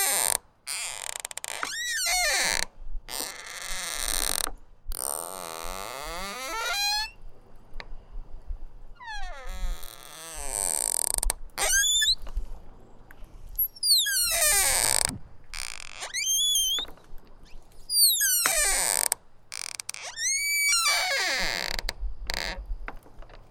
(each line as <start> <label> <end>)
0.0 front door squeaky open close loud creak 7.2
9.0 front door squeaky open close loud creak 12.3
13.6 front door squeaky open close loud creak 22.6